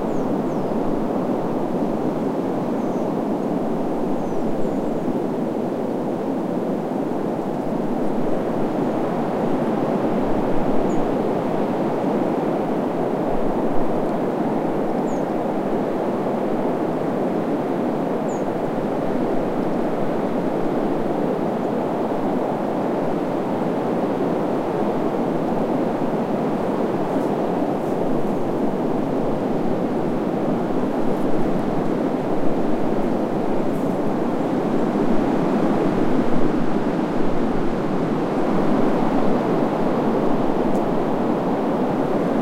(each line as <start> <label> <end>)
0.0 wind 42.4
0.0 birds 0.8